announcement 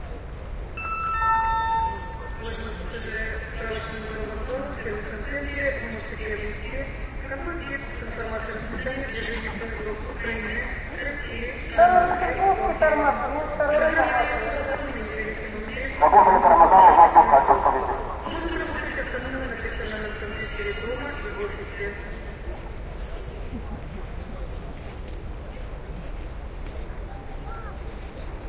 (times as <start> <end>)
0.8 6.6, 11.2 22.2